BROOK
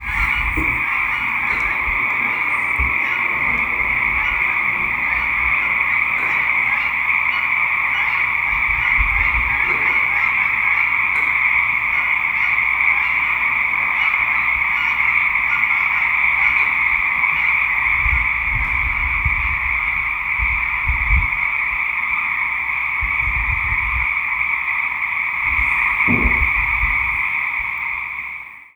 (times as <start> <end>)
0.0 18.4, 24.0 28.3